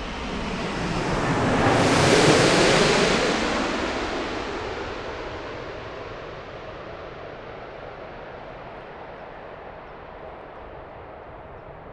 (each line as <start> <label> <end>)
0.0 Plane landing 11.8